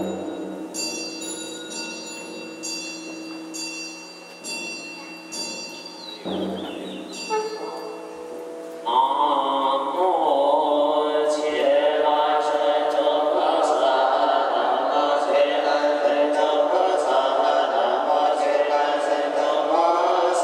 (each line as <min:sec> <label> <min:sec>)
0:08.8 Monks chanting 0:20.4